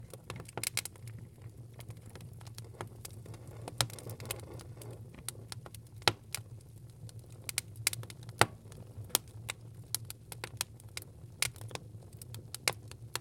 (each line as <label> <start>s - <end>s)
Fire Burning 0.0s - 13.2s
wood is popping 0.0s - 6.4s
wood is popping 7.4s - 10.8s